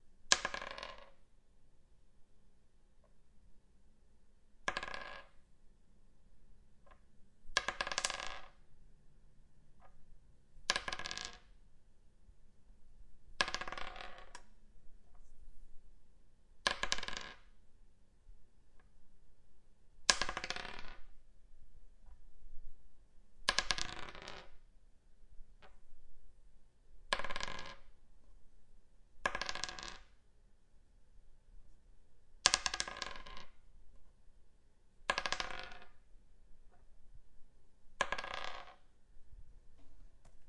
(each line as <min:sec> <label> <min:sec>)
0:00.3 Dice Rolling 0:01.2
0:04.6 Dice Rolling 0:05.4
0:06.8 Dice Rolling 0:08.6
0:10.7 Dice Rolling 0:11.5
0:13.4 Dice Rolling 0:14.5
0:16.6 Dice Rolling 0:17.5
0:20.0 Dice Rolling 0:21.1
0:23.4 Dice Rolling 0:24.6
0:27.1 Dice Rolling 0:27.9
0:29.2 Dice Rolling 0:30.2
0:32.4 Dice Rolling 0:33.6
0:35.1 Dice Rolling 0:36.0
0:38.0 Dice Rolling 0:38.9